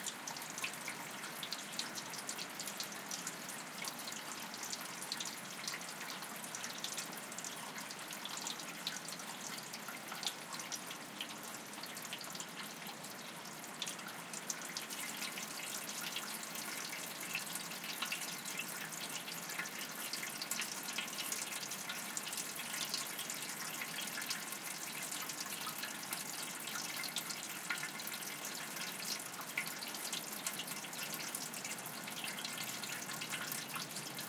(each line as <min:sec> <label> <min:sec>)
0:00.0 Water trickling in a metal down pipe 0:34.2
0:00.0 rain 0:34.2